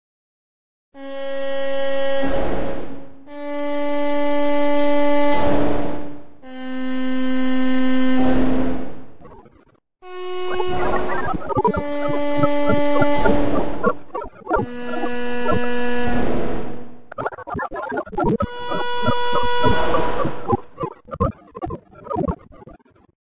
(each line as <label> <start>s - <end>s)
Vocal 10.4s - 16.2s
Vocal 17.1s - 23.1s